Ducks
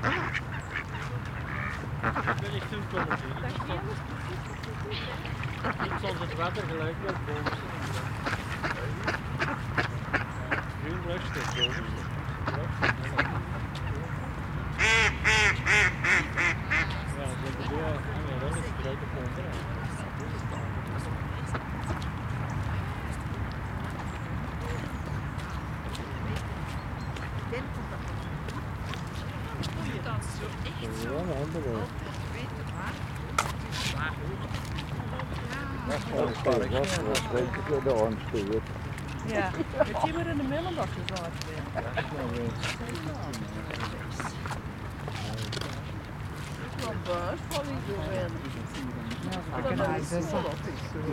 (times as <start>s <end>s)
0.0s 17.1s